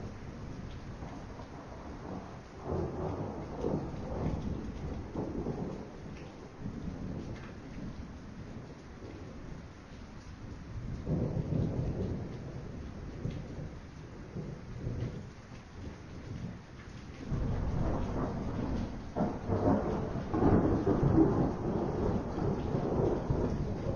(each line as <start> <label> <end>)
0.0 THUNDER 9.5
0.0 RAIN 23.9
10.7 THUNDER 16.6
17.2 THUNDER 23.9